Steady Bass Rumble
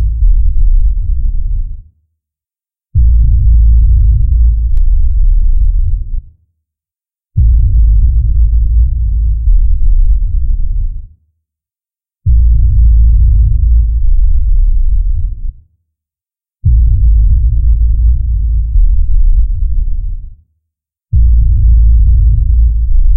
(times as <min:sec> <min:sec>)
0:00.0 0:01.8, 0:03.0 0:06.3, 0:07.4 0:11.1, 0:12.3 0:15.6, 0:16.6 0:20.3, 0:21.2 0:23.1